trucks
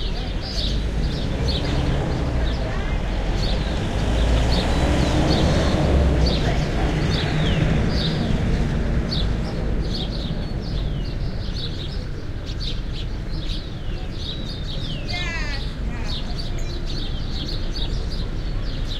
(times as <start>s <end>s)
0.0s 12.4s